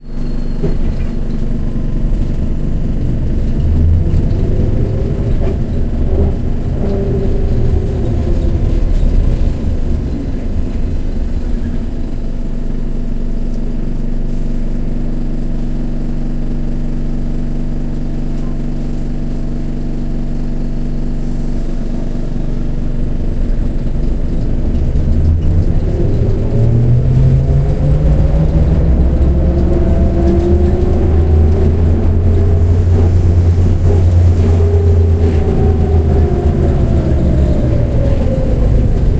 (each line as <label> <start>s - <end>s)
Trackless Trolley 0.0s - 13.9s
Trackless Trolley 20.3s - 39.1s